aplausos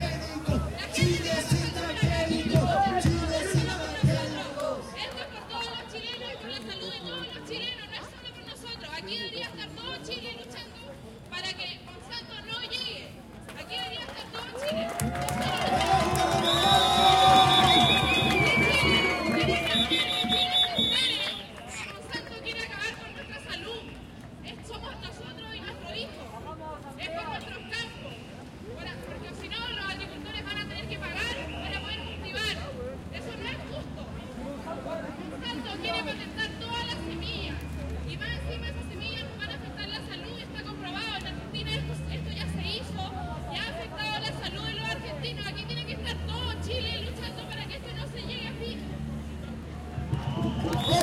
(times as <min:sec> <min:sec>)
0:15.0 0:21.6, 0:50.0 0:51.0